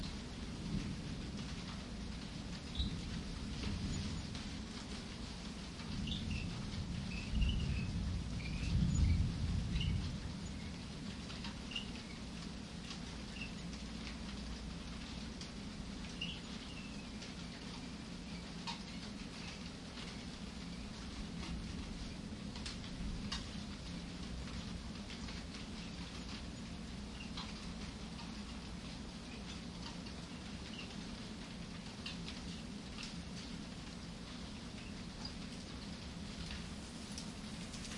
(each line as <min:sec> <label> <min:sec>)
0:00.0 rain 0:37.9
0:00.5 thunder 0:01.8
0:05.8 thunder 0:11.1